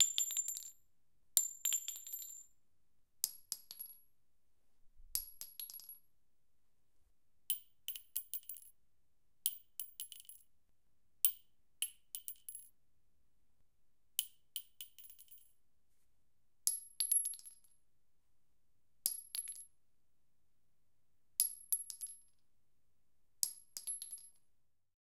Dropping single bullet shells onto concrete 0.0 - 2.6
Dropping single bullet shells onto concrete 3.2 - 4.0
Dropping single bullet shells onto concrete 5.2 - 6.0
Dropping single bullet shells onto concrete 7.5 - 8.8
Dropping single bullet shells onto concrete 9.4 - 10.5
Dropping single bullet shells onto concrete 11.2 - 12.8
Dropping single bullet shells onto concrete 14.2 - 15.6
Dropping single bullet shells onto concrete 16.7 - 17.8
Dropping single bullet shells onto concrete 19.1 - 19.7
Dropping single bullet shells onto concrete 21.4 - 22.4
Dropping single bullet shells onto concrete 23.4 - 24.4

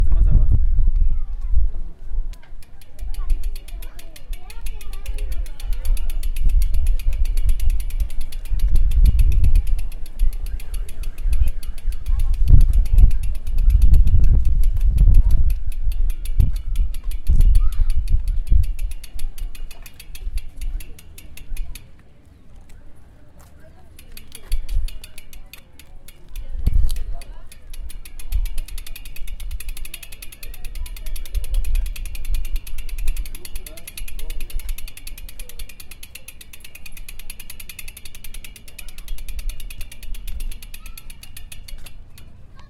bycicle 0.1 - 42.6

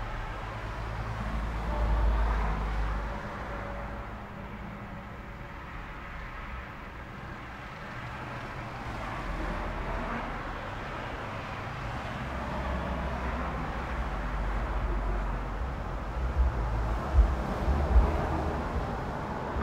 traffic 0.0 - 19.6

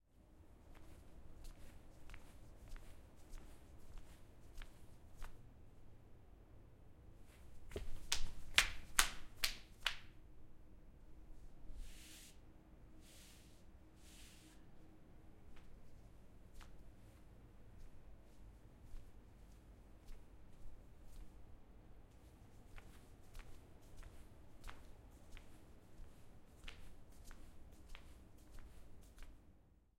footsteps 7.3 - 9.1

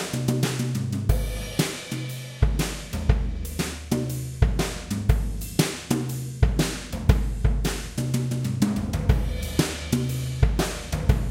Jazz-Drum-Beat-120-BPM 0.0 - 11.3

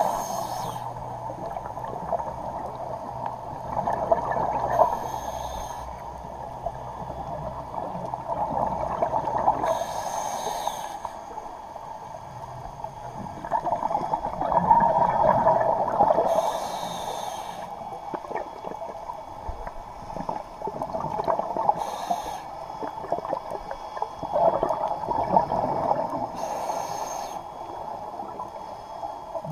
scuba regulator 0.0 - 6.1
bubbles 1.4 - 4.8
scuba regulator 7.0 - 12.3
bubbles 7.3 - 9.7
scuba regulator 13.1 - 29.5
bubbles 13.2 - 16.3
wheeze 16.3 - 17.7
bubbles 19.6 - 21.8
bubbles 22.8 - 26.4
wheeze 26.4 - 27.5

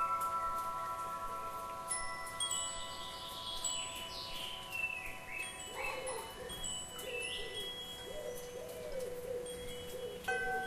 Singing and fluttering birds 0.0 - 10.6
windchimes 0.0 - 10.6

